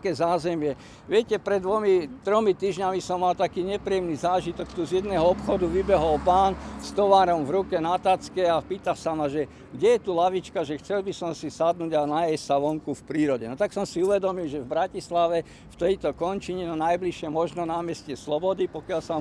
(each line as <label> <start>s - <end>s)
talk about local neighbourhood 0.0s - 19.2s